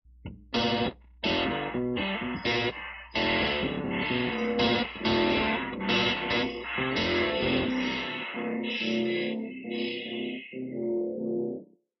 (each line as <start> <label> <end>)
0.2 mangled guitars 2 11.6